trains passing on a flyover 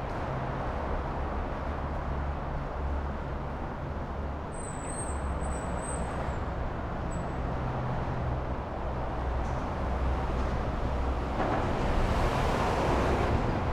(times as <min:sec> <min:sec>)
0:05.2 0:13.7